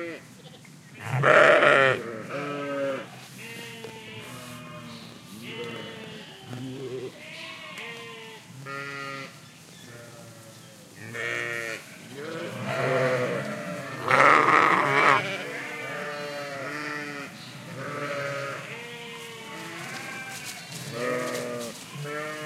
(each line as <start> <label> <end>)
1.5 movement in the gras 22.4
4.2 Vocalisations from young and old animals 7.4